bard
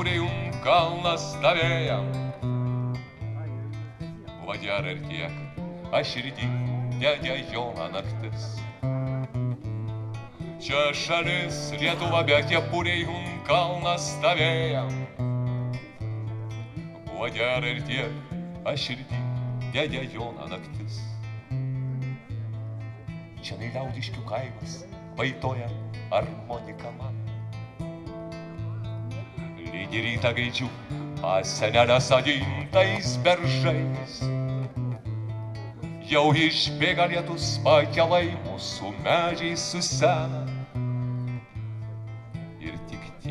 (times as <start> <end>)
11.6 13.4